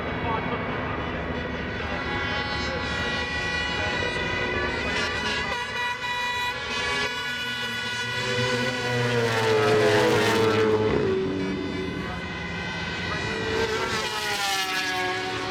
0.0s 500 cc motorcycle race 15.5s

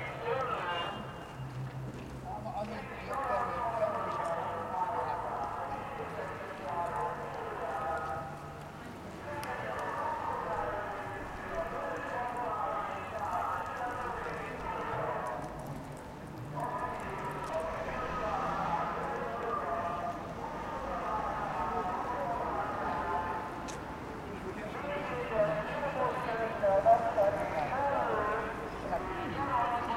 16.5s mobile megaphone amplified fruit vendour 23.4s
24.6s mobile megaphone amplified fruit vendour 29.9s

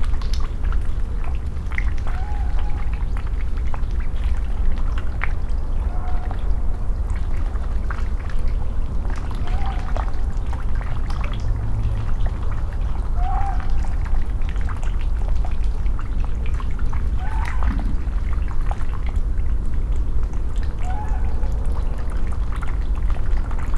17.2s Muntjac Calls 18.3s

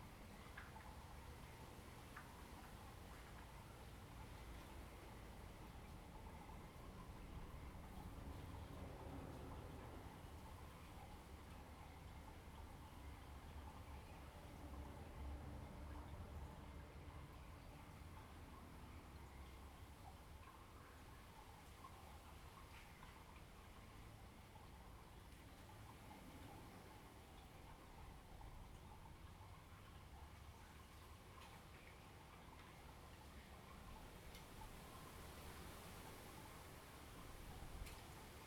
0.0s Water flow sound 38.4s

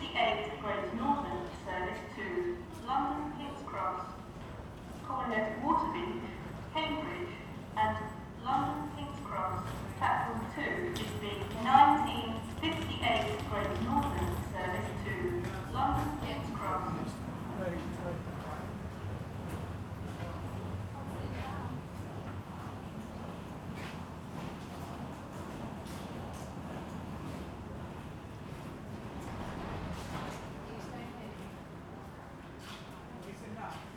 0.0s public announcement 25.9s
0.0s Sounds from arriving travellers 33.9s
24.9s Diesel train stopped and departing 33.1s
26.5s public announcement 33.9s

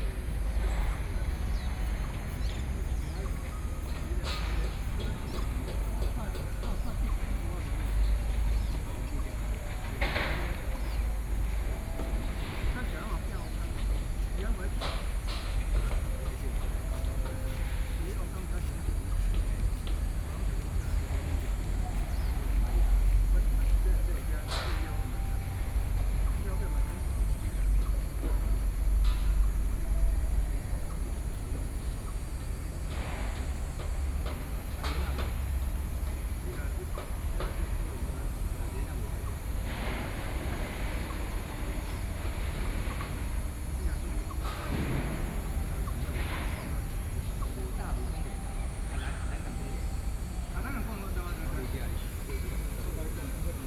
0.0s construction site 53.6s

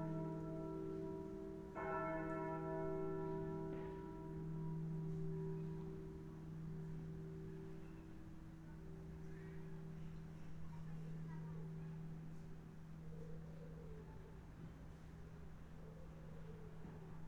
0.0s church bells 13.1s

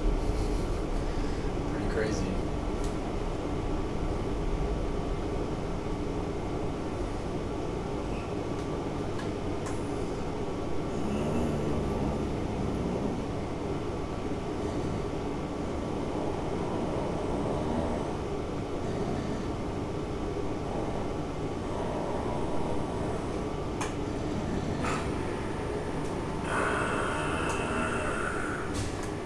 1.6s people talking 2.5s
10.8s snores 13.5s
14.6s Whirring machines 29.2s
15.9s snores 19.8s
20.4s snores 29.2s

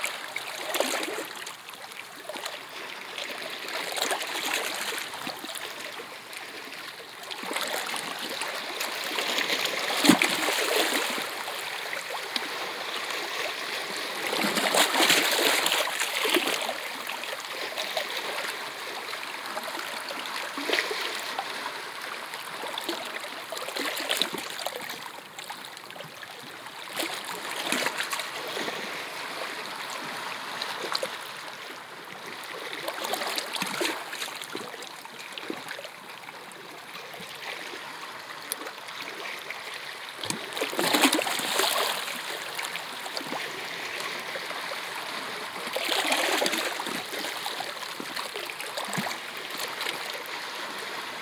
6.8s Waves on rocks 25.2s
39.9s Waves on rocks 51.2s

